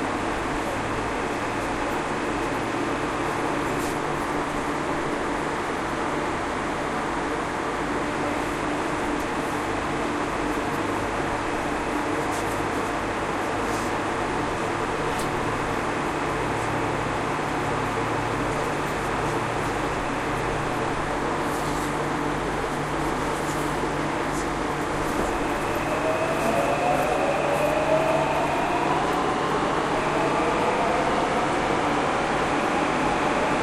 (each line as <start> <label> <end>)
0.0 noise associated with the blowing of the wind 33.6
0.0 trip between the four subway stations 33.6